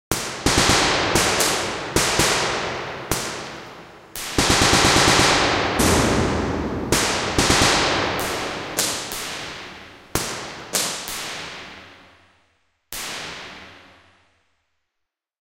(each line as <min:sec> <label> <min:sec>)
0:00.1 Shoots from distance 0:12.0
0:04.2 explosions 0:10.6